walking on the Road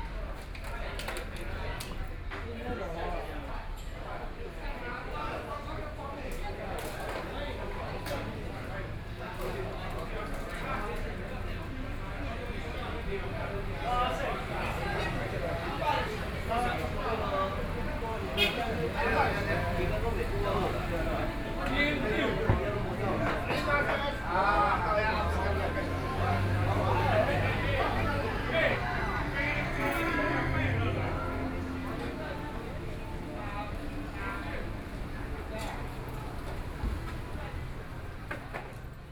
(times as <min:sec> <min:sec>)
0:07.9 0:39.1